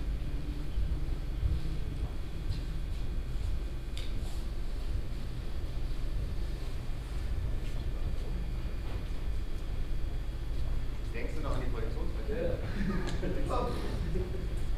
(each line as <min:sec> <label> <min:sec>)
0:11.0 conversation of the technician 0:14.0